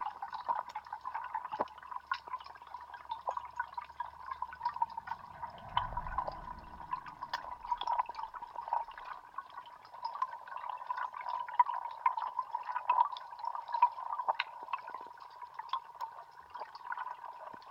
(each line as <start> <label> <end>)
0.0 water 17.7